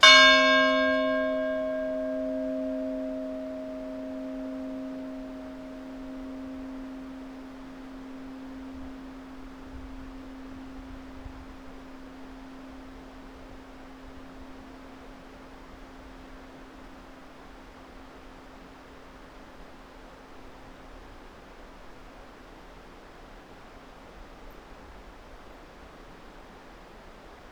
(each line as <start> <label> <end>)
0.0 church bell 21.4